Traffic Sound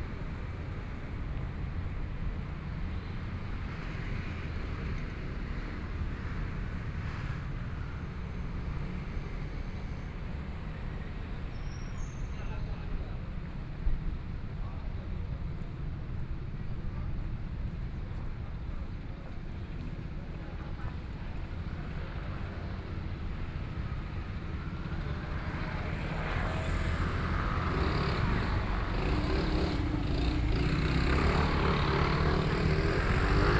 19.1 33.5

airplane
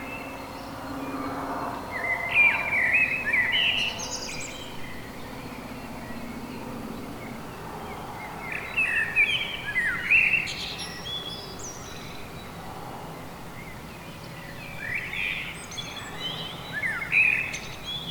0.0 9.2

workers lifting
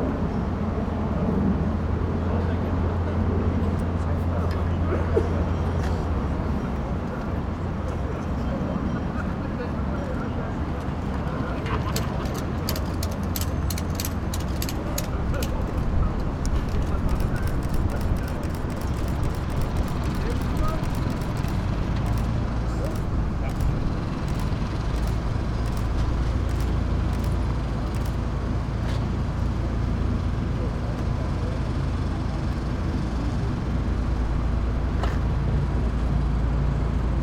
11.6 28.1

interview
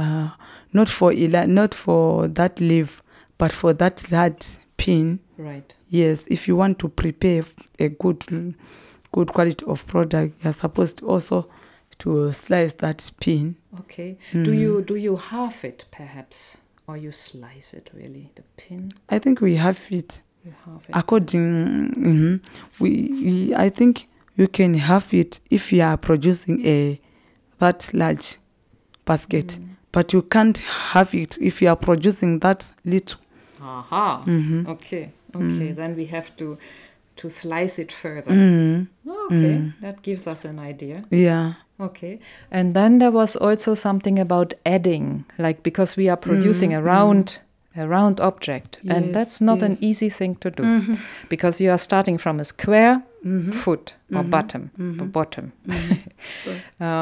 0.7 15.7, 29.0 41.6, 45.9 57.0

